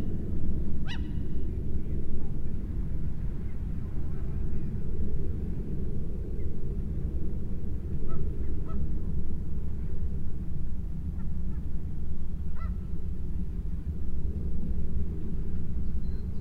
0.0s Sea 16.4s
0.0s plane 16.4s
0.8s Nesting gulls 1.2s

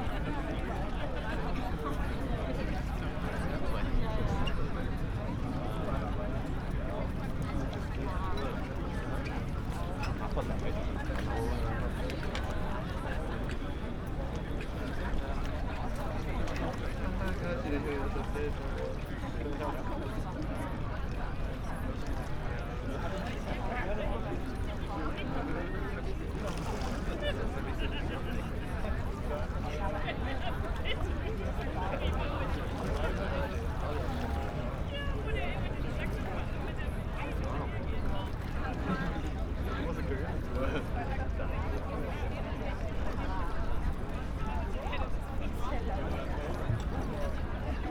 0.0s People 47.9s

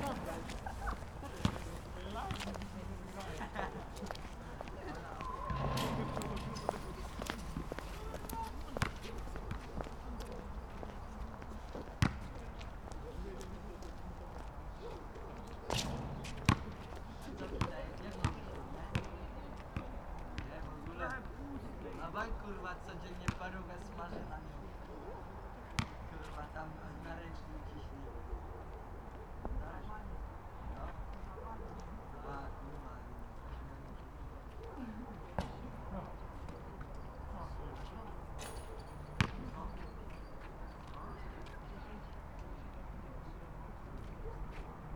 0.0s teenagers playing horse at the nearby basketball court 44.9s
5.5s basketball bouncing off the tarmac 9.7s
12.0s basketball bouncing off the tarmac 12.4s
15.7s basketball bouncing off the tarmac 19.2s
25.8s basketball bouncing off the tarmac 26.0s
39.2s basketball bouncing off the tarmac 39.6s

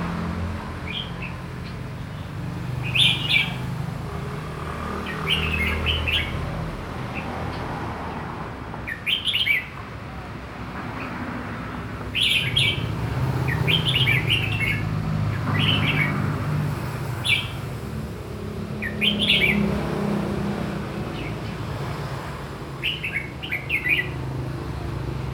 0.0s birds in a courtyard 25.3s

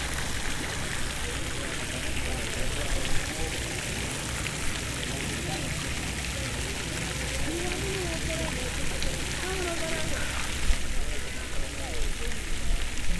0.0s Fountain 13.1s

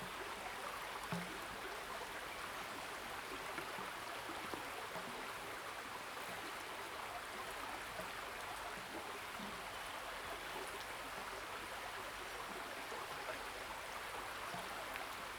0.0s Stream, River and flow 15.3s

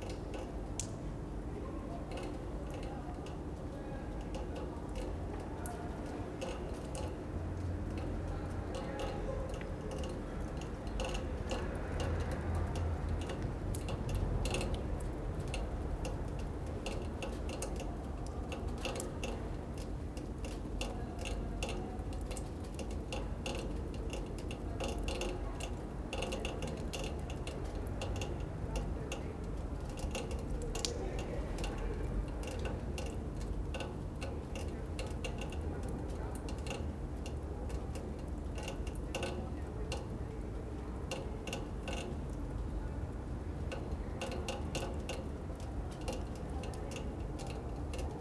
5.9s dripping pipes 48.2s

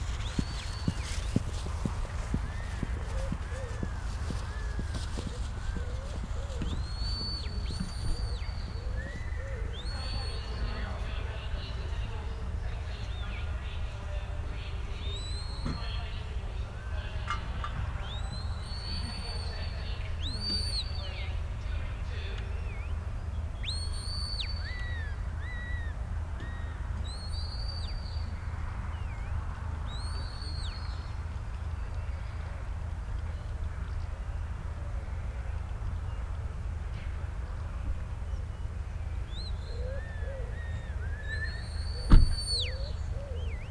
0.0s Sheepdog trials 10.7s

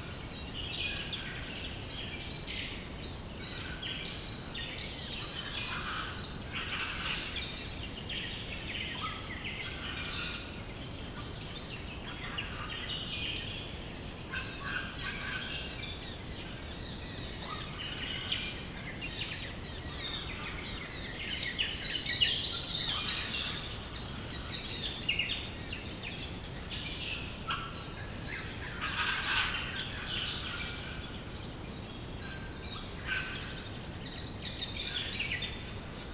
0.0s Morning birds 36.1s

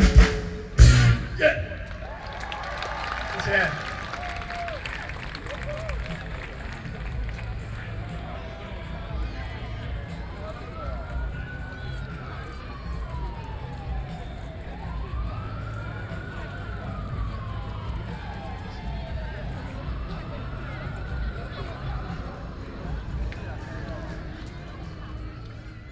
0.0s rock band 18.1s

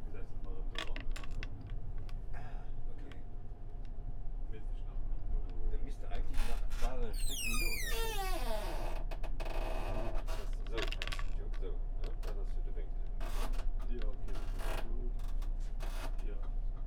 5.4s two men working on the door in the train 11.0s
11.6s two men working on the door in the train 16.8s

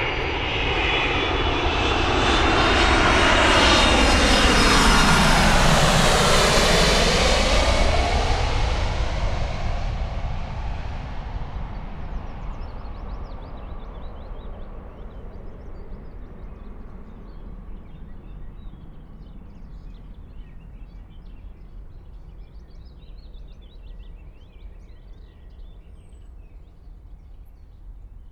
0.0s aircraft descending 20.3s

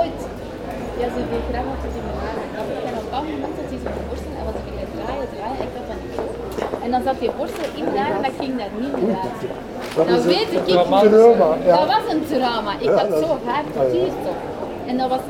0.0s people enjoy the sun and discuss quietly 15.2s

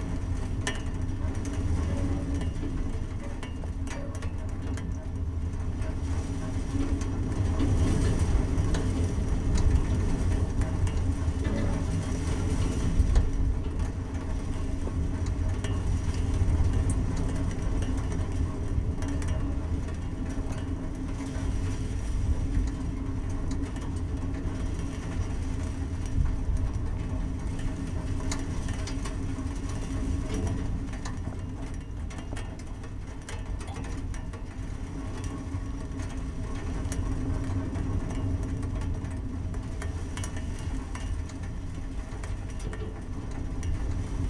6.1s heavy wind 20.3s

